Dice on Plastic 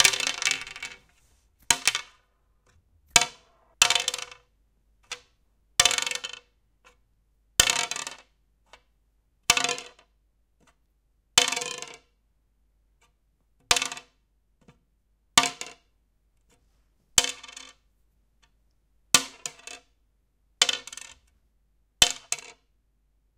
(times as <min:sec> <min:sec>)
0:00.0 0:04.5